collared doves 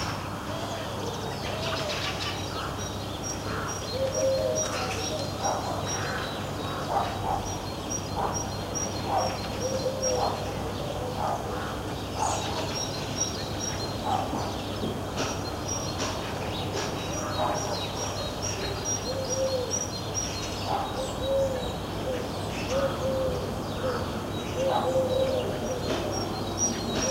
0:03.9 0:12.7, 0:19.0 0:19.8, 0:20.7 0:27.1

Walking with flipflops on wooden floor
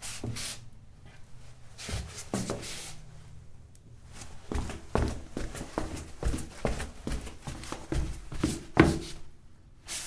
0:01.8 0:03.0, 0:04.0 0:09.3

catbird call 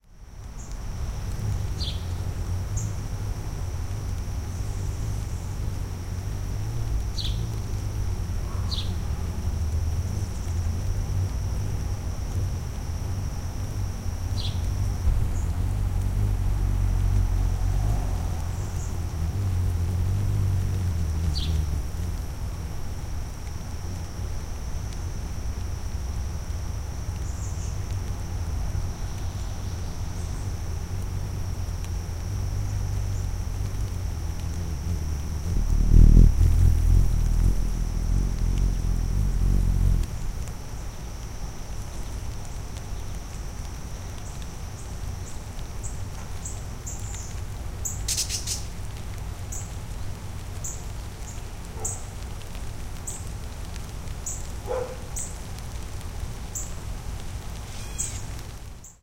0:57.6 0:58.2

